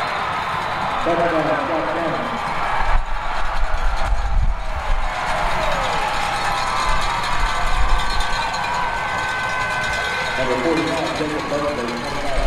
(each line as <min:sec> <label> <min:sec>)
0:00.0 American football 0:12.4
0:00.0 crowd 0:12.4